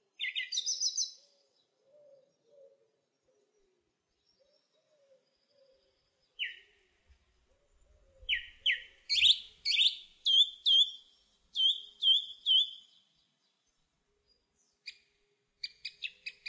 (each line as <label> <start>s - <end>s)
Song Thrush singing from a branch 0.0s - 3.3s
Song Thrush singing from a branch 4.1s - 6.9s
Song Thrush singing from a branch 7.6s - 16.4s